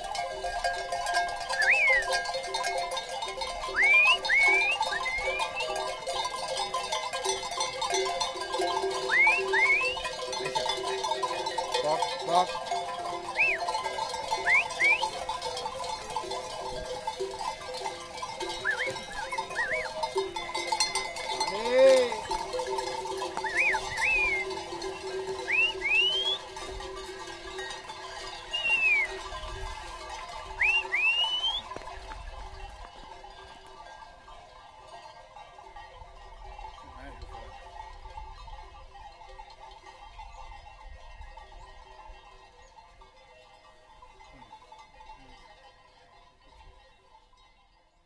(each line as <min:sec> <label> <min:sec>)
0:00.0 shepherd 0:35.3
0:00.0 sheeps 0:40.8